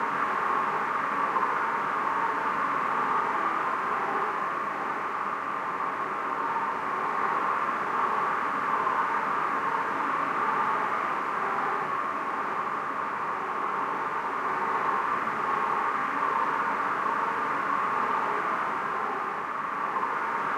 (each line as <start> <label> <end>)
0.0 Cold Howling Wind/Breeze 20.5